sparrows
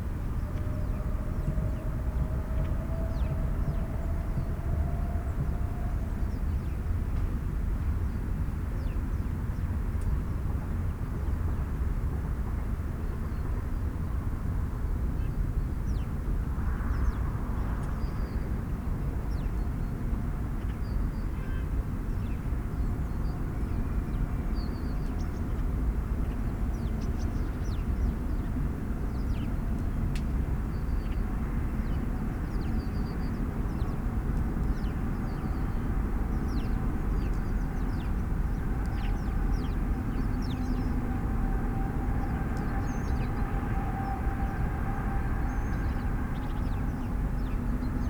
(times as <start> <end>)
34.7 40.9